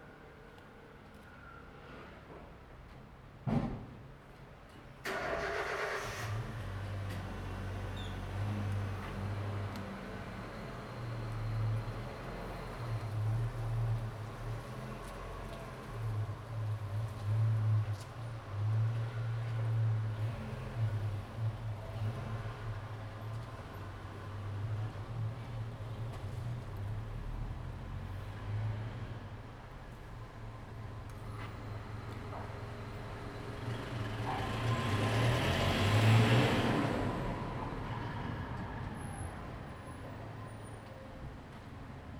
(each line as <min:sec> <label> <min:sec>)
0:05.1 Traffic Sound 0:42.1